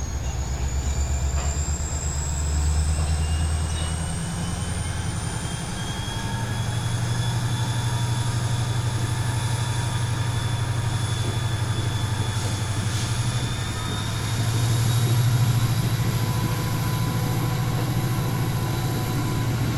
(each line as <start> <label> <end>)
0.0 Diesel Locomotive cranking it up 19.7